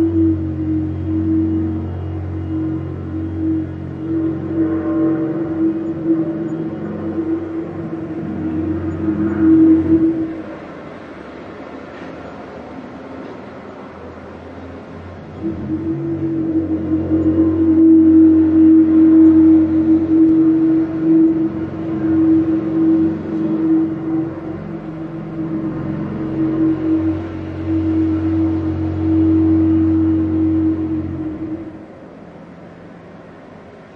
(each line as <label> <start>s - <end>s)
roadworks 0.0s - 33.9s
traffic 0.0s - 33.9s